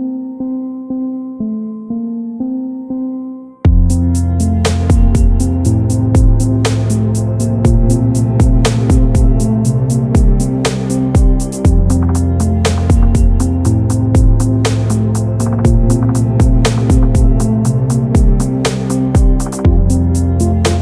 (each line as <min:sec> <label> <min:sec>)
0:03.7 trap drums 0:20.8